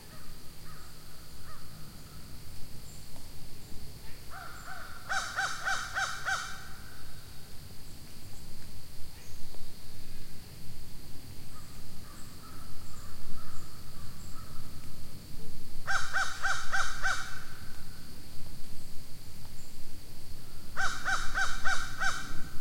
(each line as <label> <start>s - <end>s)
insects 0.0s - 22.6s